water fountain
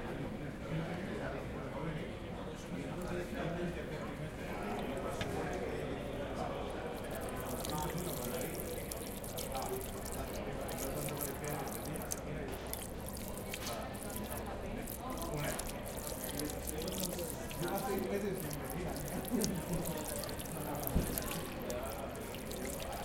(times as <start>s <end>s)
6.8s 23.0s